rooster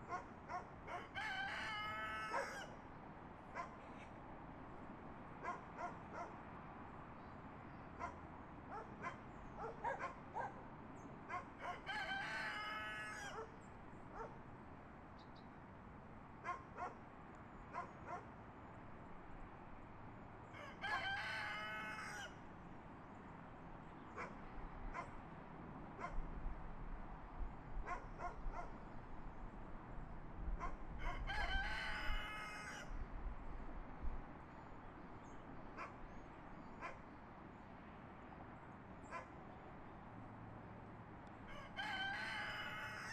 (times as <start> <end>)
0.9 2.8, 11.6 13.6, 20.5 22.4, 30.6 33.0, 41.5 43.1